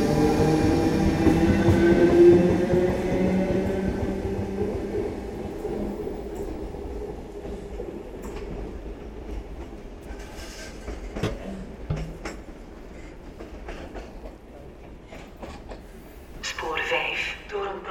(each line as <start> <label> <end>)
0.0 a walk in the tunnel 17.9
0.0 train leaving 17.9
16.4 announcements 17.9